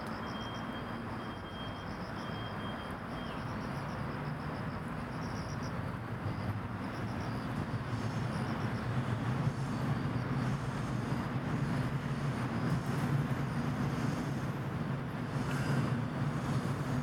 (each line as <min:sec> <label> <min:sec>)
0:00.1 Cicada 0:14.4